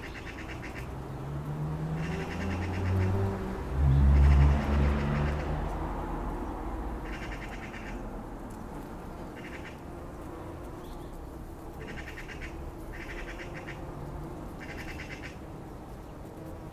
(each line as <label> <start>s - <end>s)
bees 8.7s - 16.7s